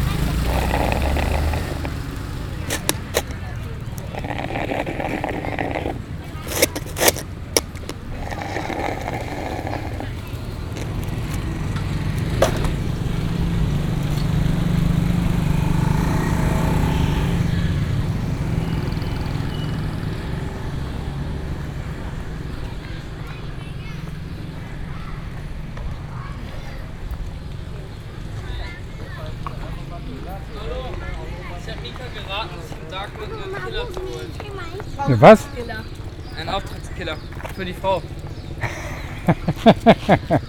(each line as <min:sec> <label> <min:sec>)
0:22.1 vendors from the mountain minorities who speak their own languages 0:38.6
0:29.6 policemen asked us 0:38.2